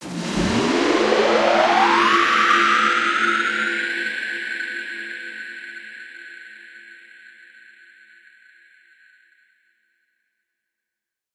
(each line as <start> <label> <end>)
0.0 woosh 3.9